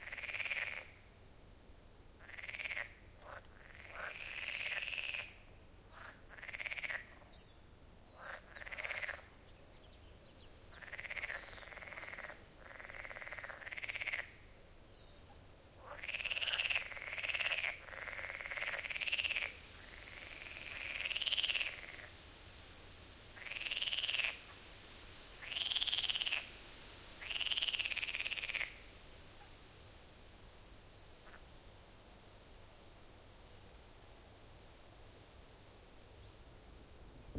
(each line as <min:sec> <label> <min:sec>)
0:00.0 insects 0:01.2
0:00.0 frogs in summer pond 0:01.2
0:02.1 frogs in summer pond 0:36.4
0:02.2 insects 0:07.4
0:08.0 insects 0:09.4
0:10.7 insects 0:14.5
0:15.8 insects 0:32.1